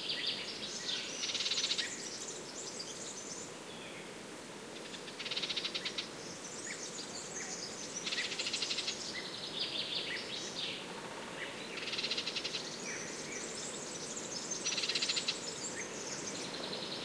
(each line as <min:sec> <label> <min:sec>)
0:04.7 golden oriole 0:17.0